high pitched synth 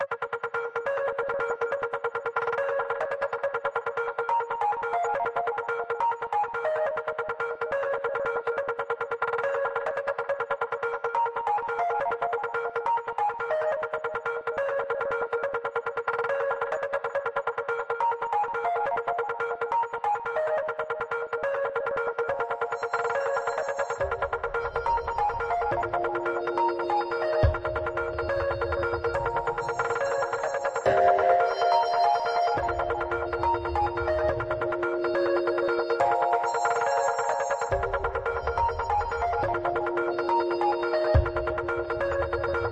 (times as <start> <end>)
22.4 42.7